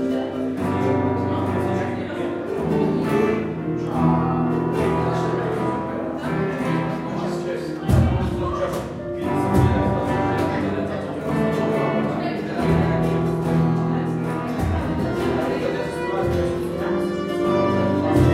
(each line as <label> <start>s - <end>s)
cajon 0.0s - 18.3s
guitar 0.0s - 18.3s
talk 0.0s - 18.3s
violin 0.0s - 18.3s
drums 7.8s - 10.6s
drums 18.0s - 18.3s